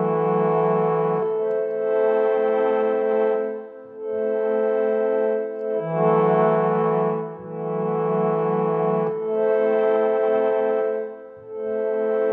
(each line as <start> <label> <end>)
0.0 Playing the harmonium 12.3